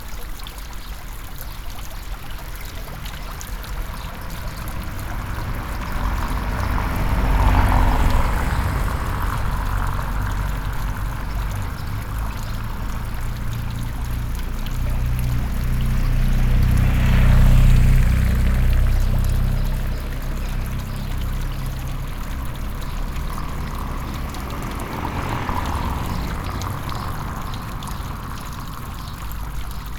Fountain 0.0 - 29.9

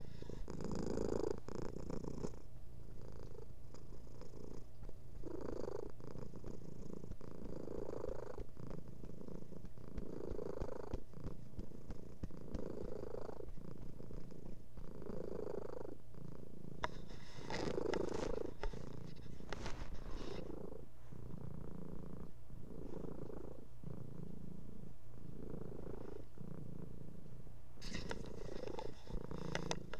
cat purr 0.0 - 29.9

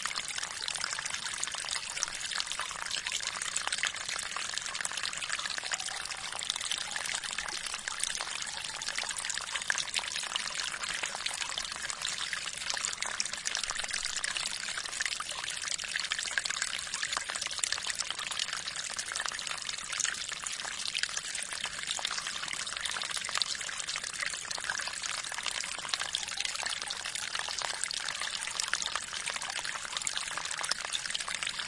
gentle water stream flows 0.0 - 31.6

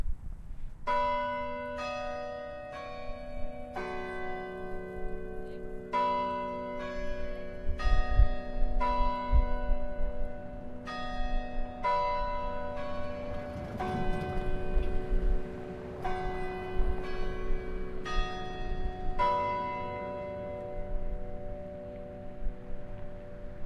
bell tower chiming on the hour 0.9 - 23.6

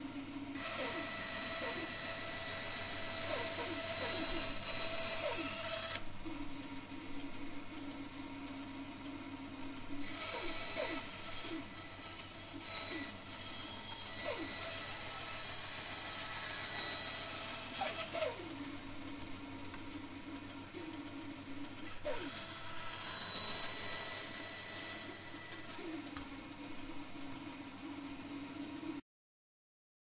saw 0.0 - 6.0
saw 10.0 - 18.7
saw 21.8 - 26.2

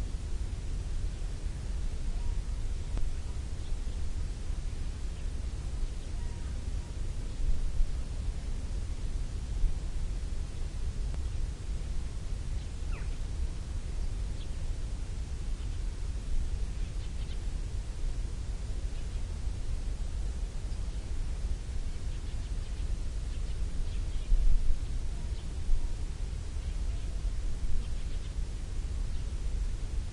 low dronelike noise 0.0 - 30.1
wind 0.0 - 30.1
Different birds 12.9 - 13.2

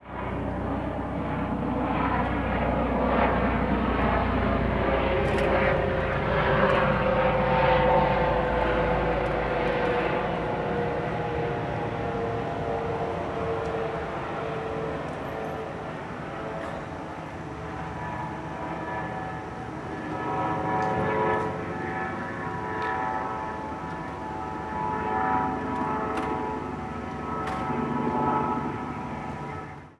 Helicopter Flyby 0.0 - 29.9

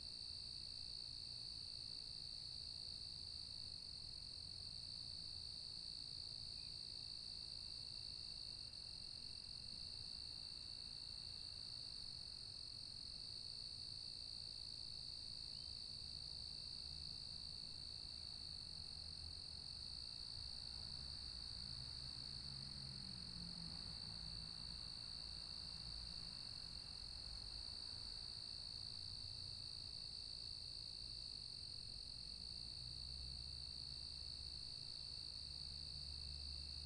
crickets 0.0 - 36.8
light distant traffic 15.8 - 36.8

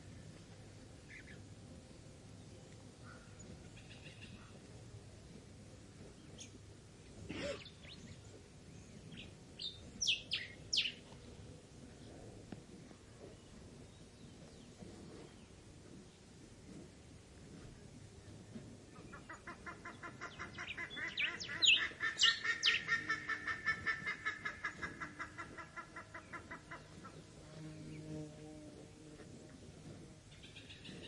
grass munching cow 11.0 - 19.2
buff necked ibis 19.0 - 27.2
grass munching cow 22.8 - 31.0

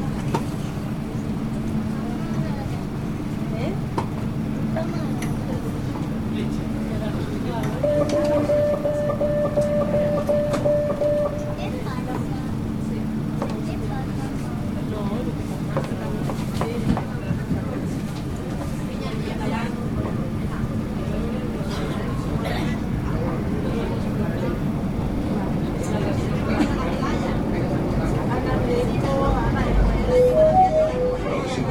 metro 0.0 - 31.7

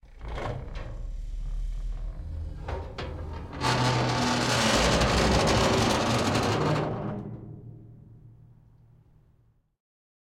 sqeaking 0.1 - 7.9

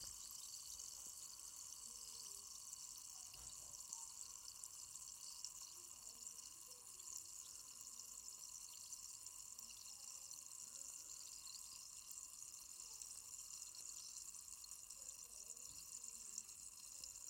fizzy water 0.0 - 17.2

